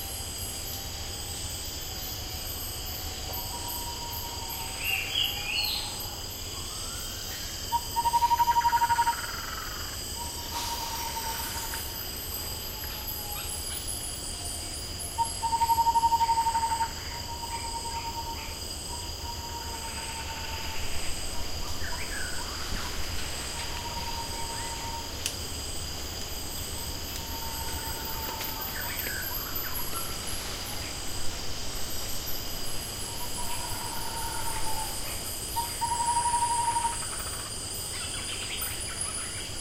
0.0s cicada 39.6s
0.0s crickets 39.6s
20.4s troop of proboscis monkeys moving through the trees 33.9s

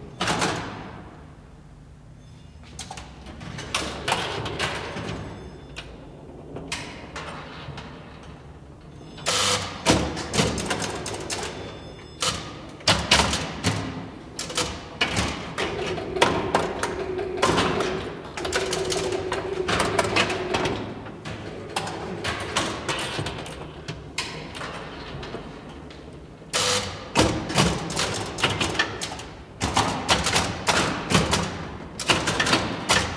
9.3s old pinball machine 25.6s

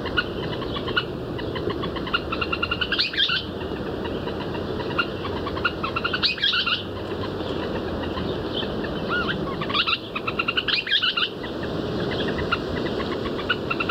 0.0s western kingbird 13.9s

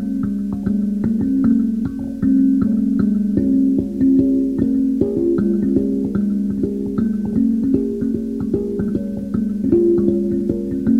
0.0s modified kalimba 10.9s

